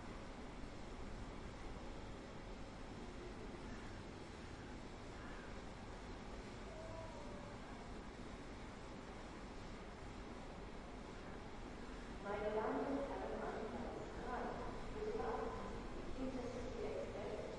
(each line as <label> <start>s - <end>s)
train arriving 5.9s - 17.5s